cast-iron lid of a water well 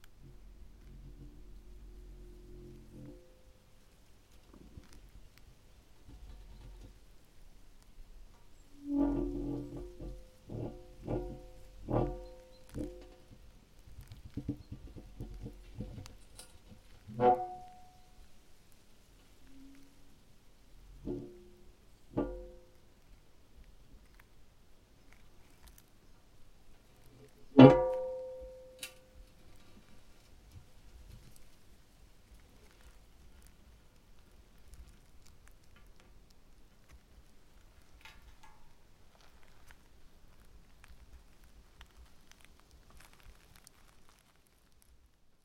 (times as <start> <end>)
0.0 3.4, 8.3 13.5, 14.3 18.1, 20.9 22.7, 27.2 29.4